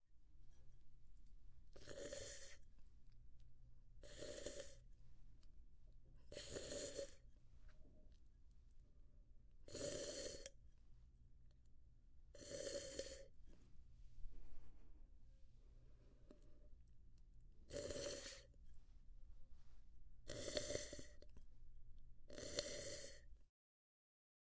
22.3s Sip of Coffee 23.3s

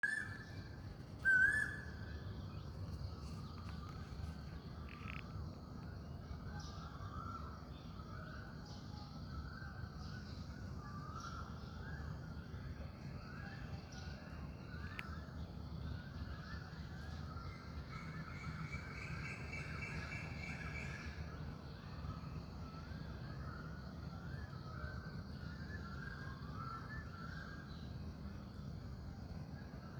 0.0s Asian Koel (Cuckoo) bird singing clearly 29.9s
0.0s subtle background birds 29.9s
0.0s faint traffic noise from a distance 29.9s

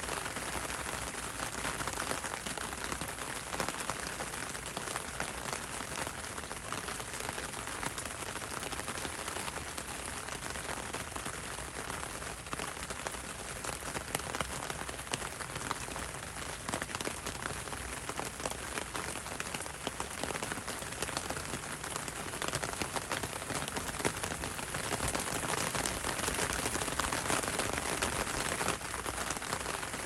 0.0s rain on umbrella 30.0s

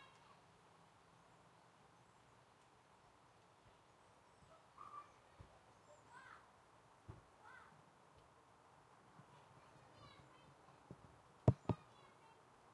1.1s birds 6.5s
9.3s birds 12.4s

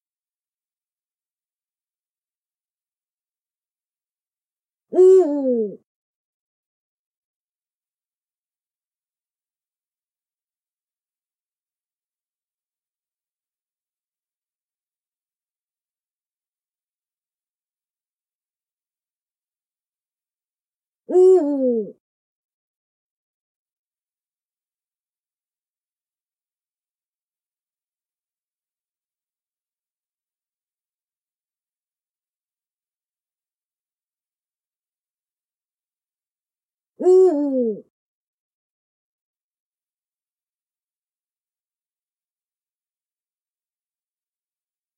5.0s Eurasian eagle-owl 5.8s
21.1s Eurasian eagle-owl 22.0s
37.0s Eurasian eagle-owl 37.9s

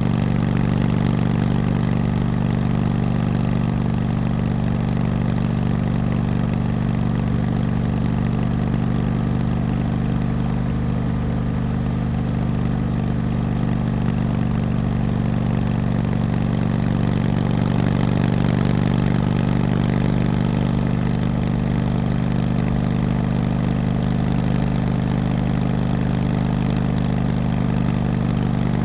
0.0s A motorbike, start, steady riding on asphalt 28.8s

